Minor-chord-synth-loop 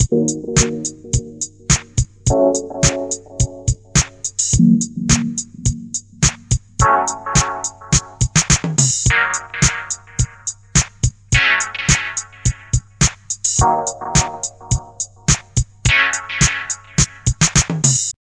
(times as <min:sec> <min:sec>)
0:00.0 0:08.3, 0:09.1 0:10.4, 0:13.6 0:15.3, 0:15.9 0:17.3